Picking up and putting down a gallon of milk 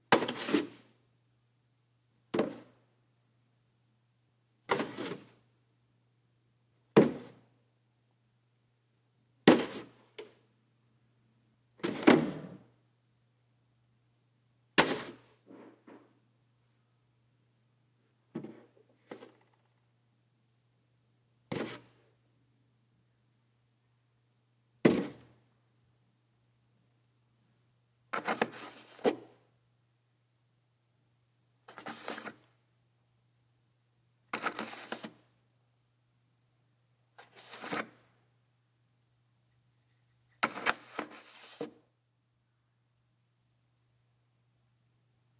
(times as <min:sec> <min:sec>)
0:02.3 0:02.7, 0:11.8 0:12.6, 0:18.3 0:19.7, 0:21.5 0:22.0